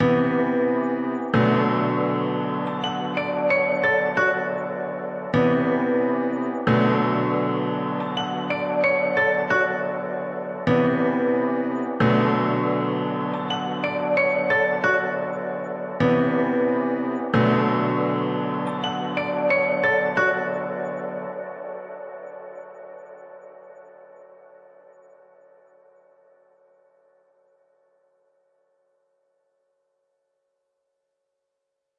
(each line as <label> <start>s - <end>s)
piano with melody 0.0s - 24.8s